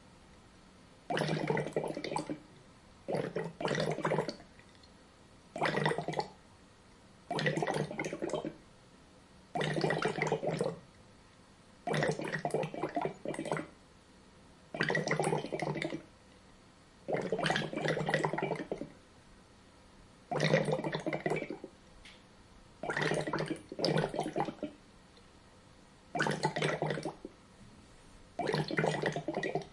1.1s airlocks letting out Co2 2.5s
3.1s airlocks letting out Co2 4.4s
5.6s airlocks letting out Co2 6.4s
7.3s airlocks letting out Co2 8.6s
9.6s airlocks letting out Co2 10.8s
11.9s airlocks letting out Co2 13.7s
14.8s airlocks letting out Co2 16.1s
17.1s airlocks letting out Co2 18.9s
20.3s airlocks letting out Co2 21.7s
22.8s airlocks letting out Co2 24.8s
26.2s airlocks letting out Co2 27.3s
28.4s airlocks letting out Co2 29.7s

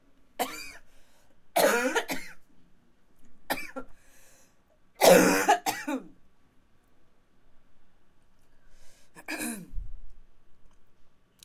0.4s Cough Hard 0.8s
1.6s Cough Hard 2.4s
3.5s Cough Hard 3.9s
5.0s Cough Hard 6.2s
9.2s Cough Hard 9.8s

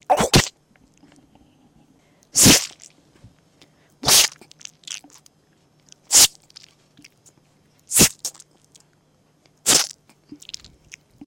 0.1s splat 0.5s
2.4s splat 2.9s
4.0s splat 4.5s
9.7s splat 10.0s

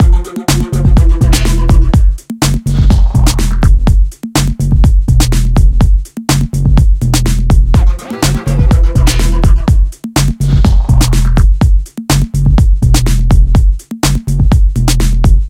0.0s breakbeat 15.4s
7.8s synths 9.9s

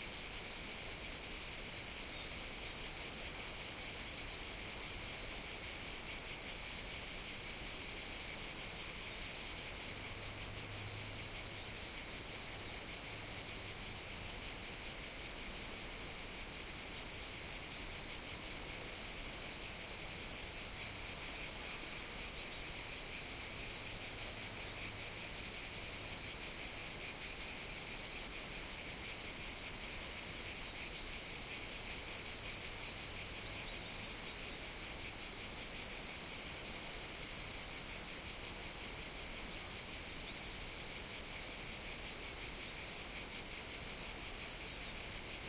0.0s Cicadas 45.4s
0.0s Cricket 45.4s

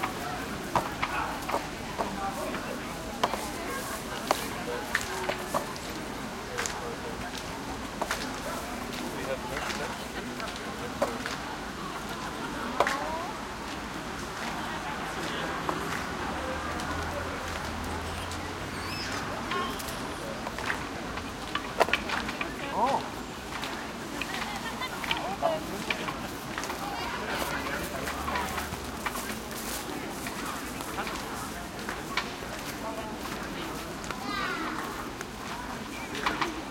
0.0s tree wind 36.7s
14.5s nearby traffic 35.2s
16.7s movement steps grass 36.7s

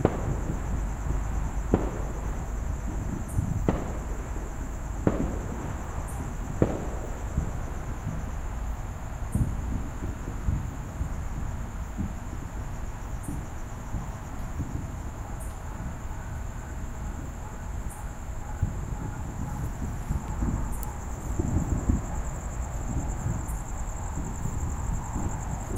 0.0s crickets 25.7s
0.0s fireworks being set off faintly in the background 25.7s
5.0s dogs bark at the fireworks 8.2s
13.2s dogs bark at the fireworks 25.7s

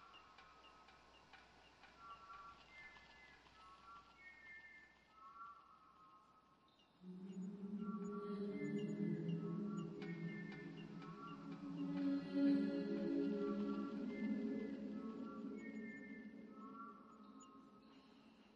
7.1s Voice 16.9s

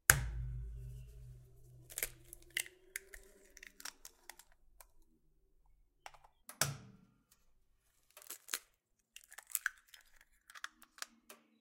1.8s Cracking Eggs Into a Bowl 5.0s
8.1s Cracking Eggs Into a Bowl 11.5s

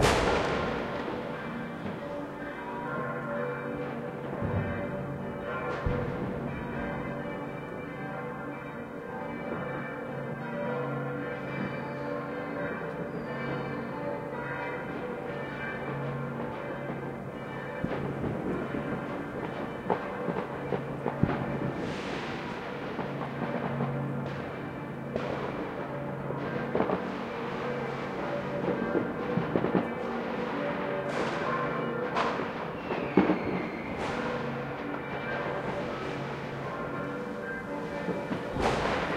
0.0s fireworks 2.0s
0.0s church bells 39.1s
5.7s fireworks 6.9s
19.4s fireworks 24.6s
25.2s fireworks 25.8s
26.4s fireworks 28.0s
28.6s fireworks 36.7s
37.6s fireworks 39.1s

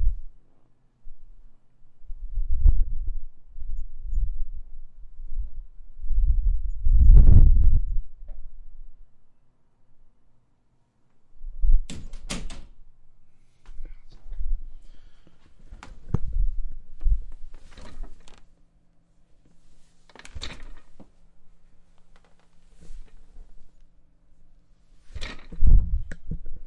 13.5s Sitting Office Chair 18.6s
19.3s Sitting Office Chair 25.7s

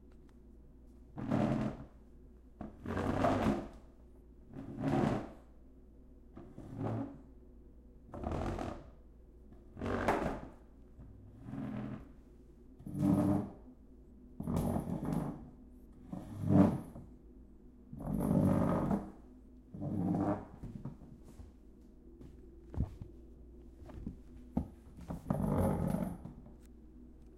1.1s Dragging Kitchen Chairs 2.0s
2.7s Dragging Kitchen Chairs 3.8s
4.5s Dragging Kitchen Chairs 5.4s
6.4s Dragging Kitchen Chairs 7.2s
9.8s Dragging Kitchen Chairs 12.2s
12.8s Dragging Kitchen Chairs 13.6s
14.4s Dragging Kitchen Chairs 17.1s
18.0s Dragging Kitchen Chairs 19.2s
19.8s Dragging Kitchen Chairs 21.5s
22.7s Dragging Kitchen Chairs 23.1s
23.8s Dragging Kitchen Chairs 26.5s

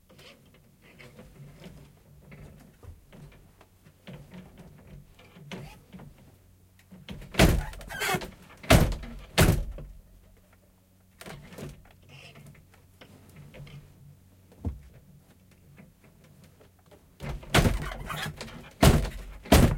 7.0s Old wooden loom from 1857, weaving a rag rug 9.5s
11.2s Old wooden loom from 1857, weaving a rag rug 19.7s

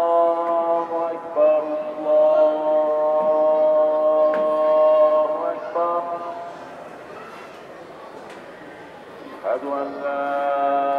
0.0s Mosque Call for Prayer 6.9s
0.0s market sounds 10.9s
9.4s Mosque Call for Prayer 10.9s

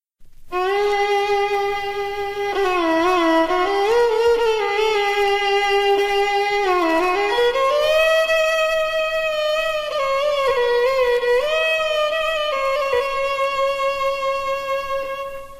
0.4s violin 15.5s

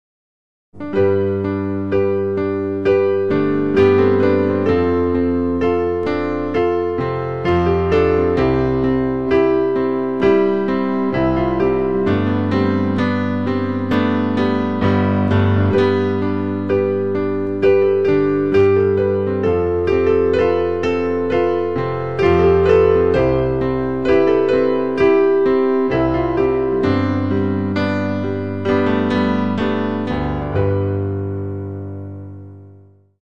0.8s Piano Chord Progression 33.1s

